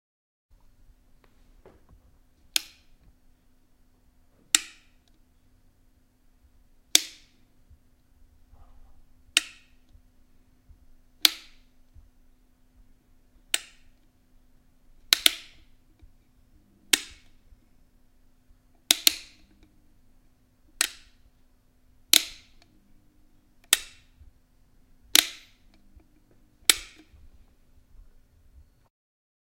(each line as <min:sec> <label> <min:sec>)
0:09.3 electric stove knobs turning 0:10.0
0:11.2 electric stove knobs turning 0:11.7
0:13.5 electric stove knobs turning 0:14.0
0:15.1 electric stove knobs turning 0:16.1
0:16.8 electric stove knobs turning 0:17.4
0:18.8 electric stove knobs turning 0:19.7
0:20.7 electric stove knobs turning 0:21.2
0:22.1 electric stove knobs turning 0:22.8
0:23.6 electric stove knobs turning 0:24.2
0:25.1 electric stove knobs turning 0:27.5